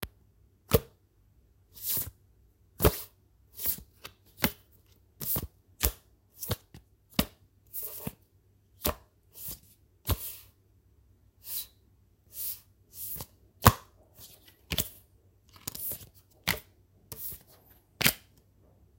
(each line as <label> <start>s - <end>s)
Sliding and placing playing cards (paper-based) on a smooth wooden surface 1.8s - 2.2s
Sliding and placing playing cards (paper-based) on a smooth wooden surface 2.8s - 4.6s
Sliding and placing playing cards (paper-based) on a smooth wooden surface 5.2s - 8.2s
Sliding and placing playing cards (paper-based) on a smooth wooden surface 8.8s - 10.5s
Sliding and placing playing cards (paper-based) on a smooth wooden surface 12.3s - 13.4s
Sliding and placing playing cards (paper-based) on a smooth wooden surface 14.2s - 18.3s